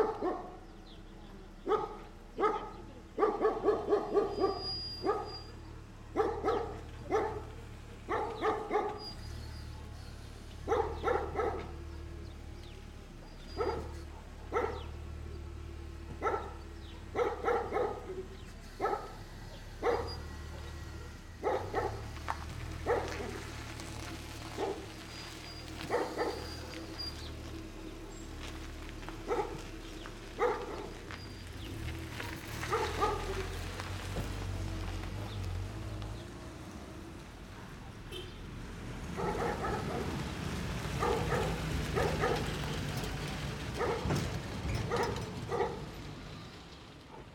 DOG 0:00.0 - 0:00.6
CAR PASSING 0:00.0 - 0:47.3
DOG 0:01.7 - 0:05.5
DOG 0:06.2 - 0:07.5
DOG 0:08.1 - 0:10.0
DOG 0:10.6 - 0:11.8
DOG 0:13.4 - 0:14.9
DOG 0:16.2 - 0:22.1
DOG 0:22.8 - 0:23.4
DOG 0:24.5 - 0:24.9
DOG 0:25.8 - 0:27.0
DOG 0:29.2 - 0:29.7
DOG 0:30.4 - 0:31.4
DOG 0:32.6 - 0:33.6
DOG 0:39.2 - 0:40.2
DOG 0:41.0 - 0:42.6
DOG 0:43.8 - 0:44.3
DOG 0:44.9 - 0:45.9

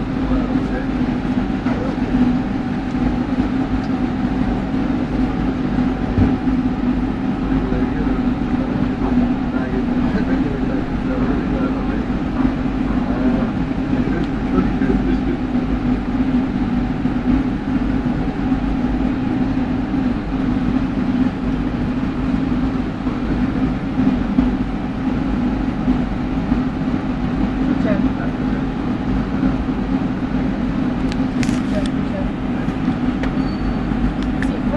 subway 0:00.0 - 0:34.7

